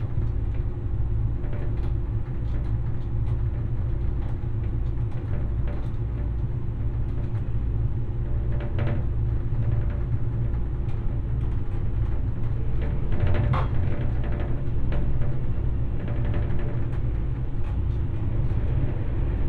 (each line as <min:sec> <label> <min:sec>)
0:00.0 multiple things rattling and vibrating 0:19.4
0:11.8 engine drones 0:19.4